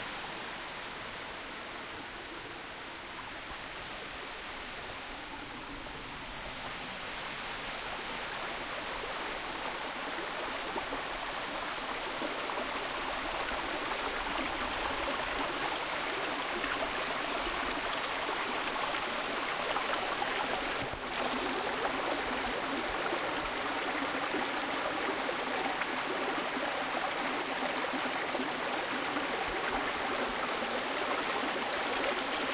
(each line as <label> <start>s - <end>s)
waterfall 0.0s - 32.5s